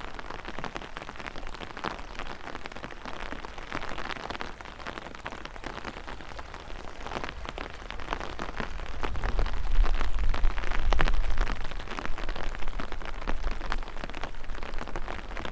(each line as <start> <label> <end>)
0.0 rain drops 15.5
0.0 flow of river water 15.5